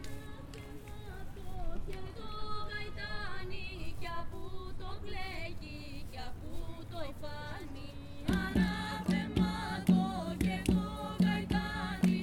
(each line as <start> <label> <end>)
0.0 light breeze 12.2
6.3 youngsters singing a greek traditional song 12.2